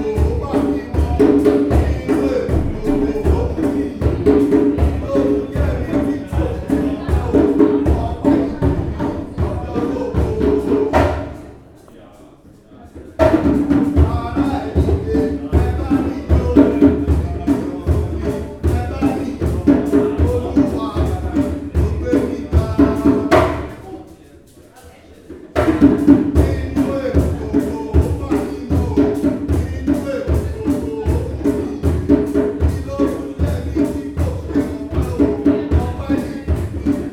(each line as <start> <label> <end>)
0.0 drums 11.6
13.2 drums 24.0
25.2 drums 37.1